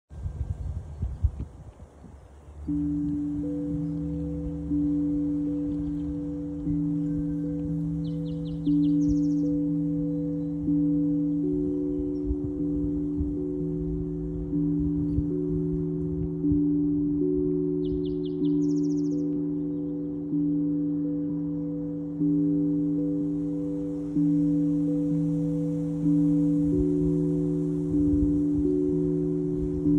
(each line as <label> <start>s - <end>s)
Ambient Tongue Drum 0.1s - 29.9s